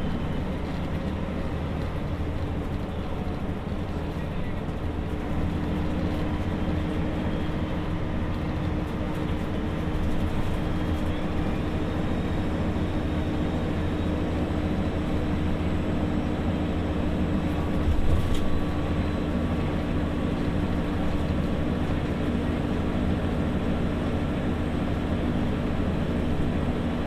bus driving 0.0 - 27.0
engine noise 0.0 - 27.0
radio 3.9 - 5.3
radio 10.1 - 12.2

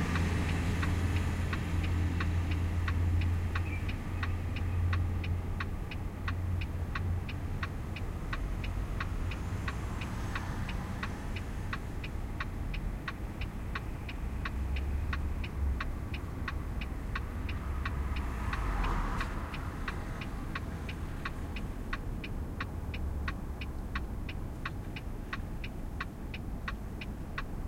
passing by cars and trucks 0.0 - 27.6

